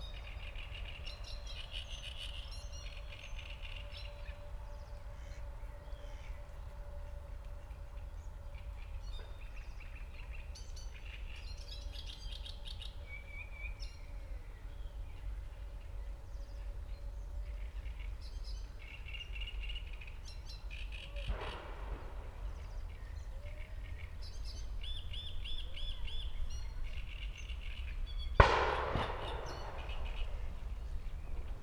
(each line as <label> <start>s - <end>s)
shots from the nearby shooting range 21.2s - 31.6s
echos 28.4s - 31.6s